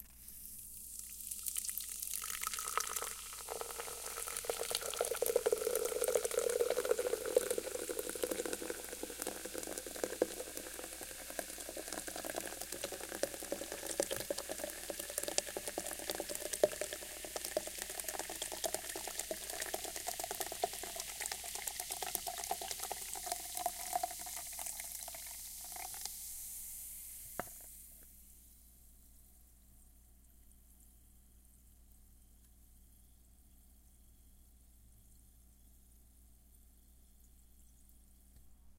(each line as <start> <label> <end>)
0.9 large Monster Energy Drink Pouring Into Root Beer Style Cup 26.1